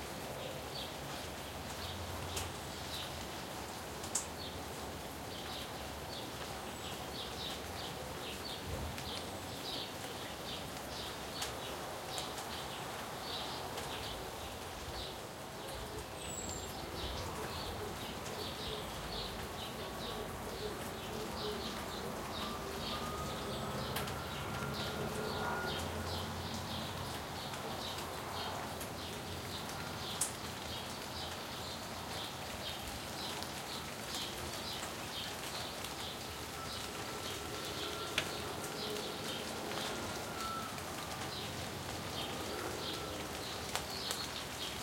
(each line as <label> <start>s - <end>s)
light rain 0.0s - 44.8s
wind 0.0s - 44.8s
birds 4.1s - 44.8s
siren 22.4s - 26.7s
train horn 22.4s - 26.5s
siren 36.6s - 41.3s
train horn 37.1s - 40.7s